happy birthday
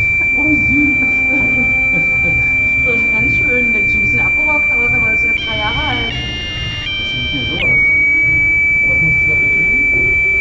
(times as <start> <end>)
0.0 7.7